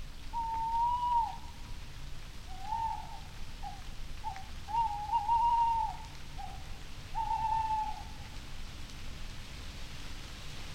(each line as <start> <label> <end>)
0.0 rustling leaves 10.7
0.3 little owl 1.5
0.3 tawny owl calls 1.6
2.5 tawny owl calls 8.2
2.5 little owl 8.3
2.6 bird calls 6.6
7.2 bird calls 8.2